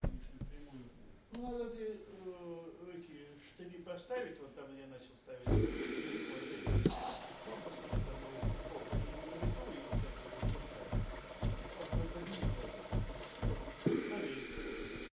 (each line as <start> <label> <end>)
5.5 faulty operation of coffee machine with empty water tank 15.1